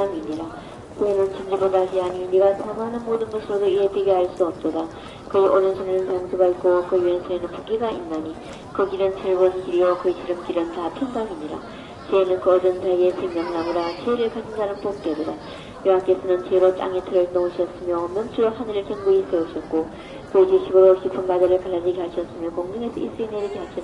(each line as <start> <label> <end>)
0.0 Woman praying with a speaker 23.8
0.0 people talking 23.8
0.0 walking 23.8